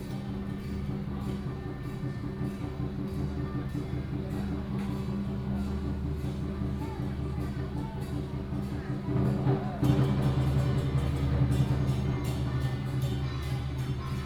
Traditional temple festivals 0:00.0 - 0:14.2

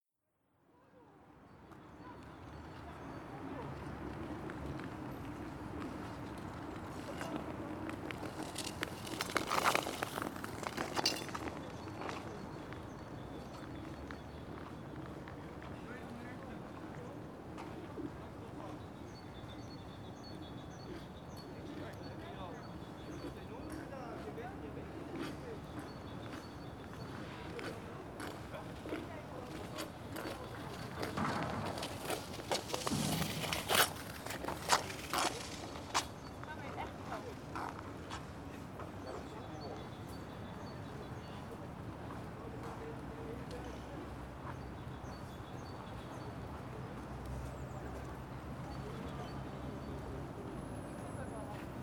Ice Skating 0:06.8 - 0:11.7
Ice Skating 0:29.6 - 0:36.2

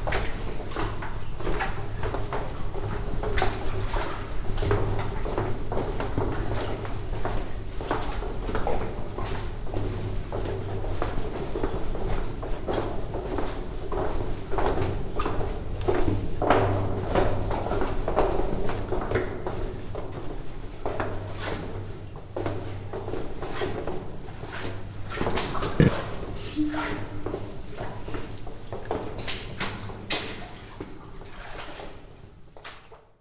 walk through the old mines tunnel 0:00.0 - 0:33.1

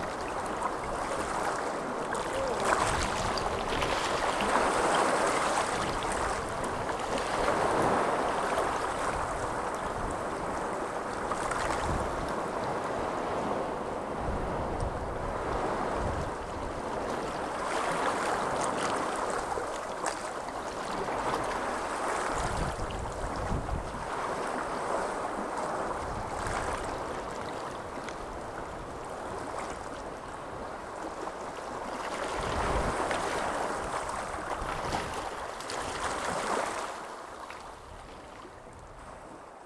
swash and backwash 0:00.0 - 0:39.3
fresh breeze 0:00.0 - 0:39.6

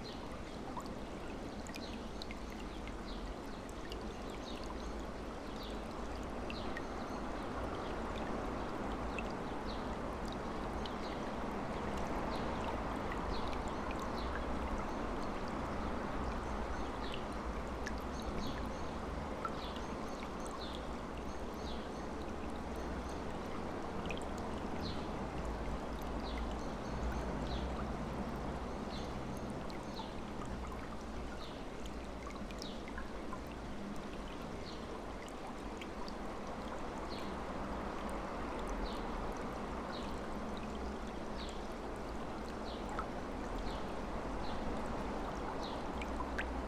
stream flowing 0:00.0 - 0:46.6

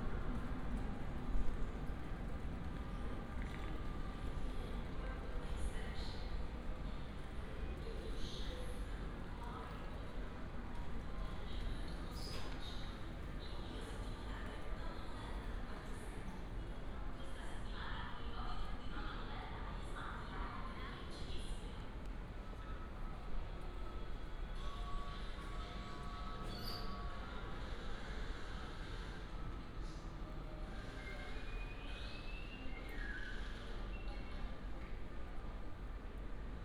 sound coming form a cafe 0:00.0 - 0:36.6
train arriving, idling and departing 0:00.0 - 0:36.6
second train only passing 0:27.1 - 0:36.6

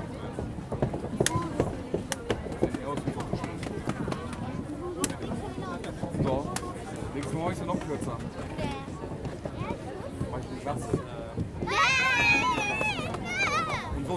Kids and parents waiting 0:11.4 - 0:14.1

